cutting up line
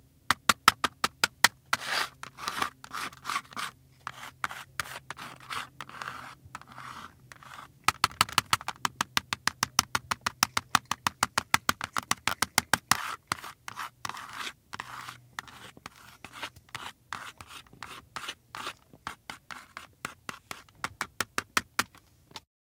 0.6 8.9

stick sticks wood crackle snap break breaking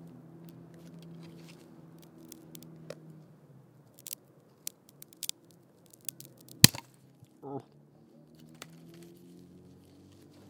3.9 7.0

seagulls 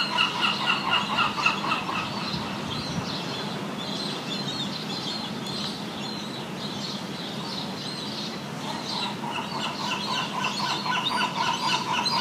0.0 2.5, 8.6 12.2

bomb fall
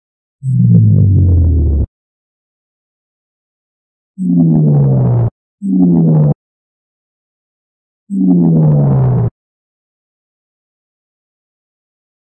0.4 1.9

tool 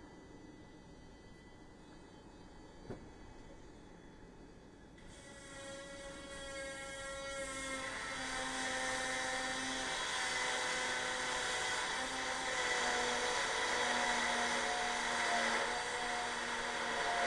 5.0 17.2

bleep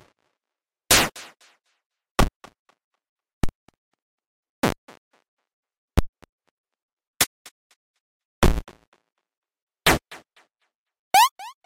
11.2 11.6

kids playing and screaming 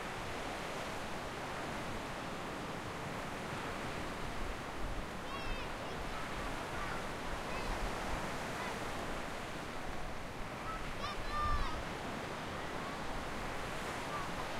5.3 7.9, 10.6 11.9

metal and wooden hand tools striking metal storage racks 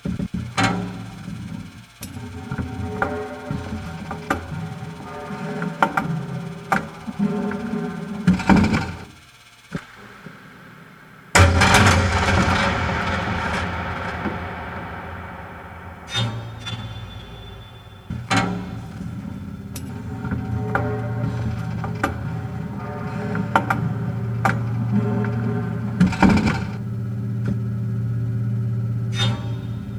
11.4 26.7

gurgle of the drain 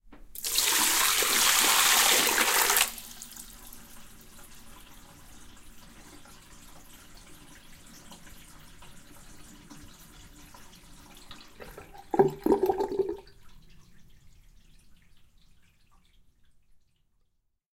4.3 16.9

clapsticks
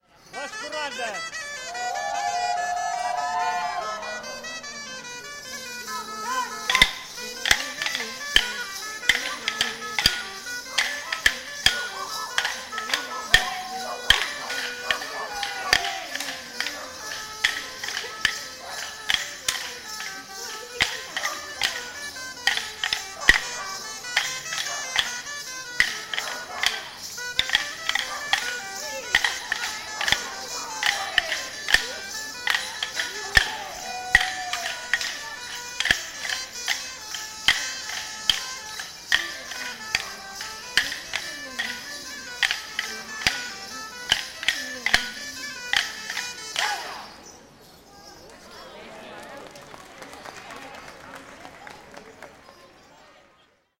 5.5 47.0

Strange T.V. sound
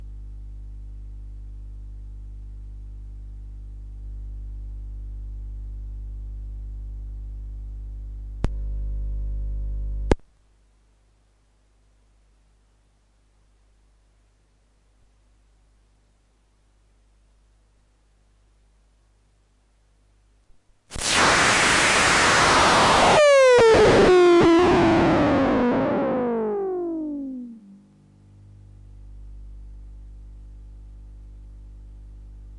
20.9 28.6

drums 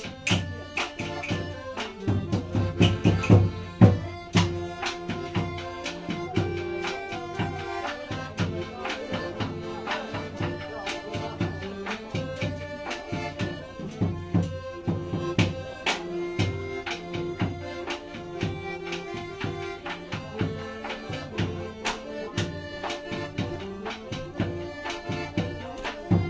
2.1 4.6

